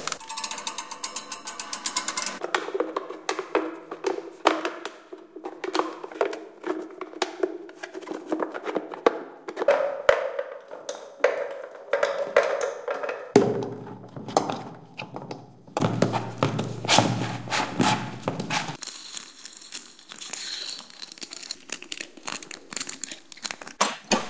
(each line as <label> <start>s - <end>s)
creaks 0.0s - 2.4s
railings 0.0s - 2.4s
metal farm things 0.0s - 2.4s
scrapes 15.8s - 22.1s
crushed snail shells 18.8s - 23.8s